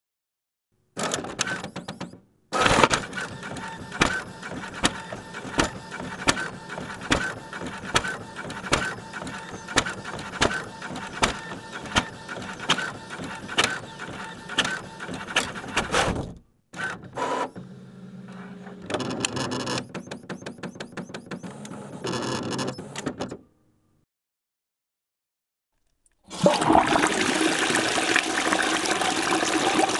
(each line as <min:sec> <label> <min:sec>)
0:01.0 inkjet printer 0:16.2
0:16.8 inkjet printer 0:23.3
0:26.3 Flushing the toilet 0:29.9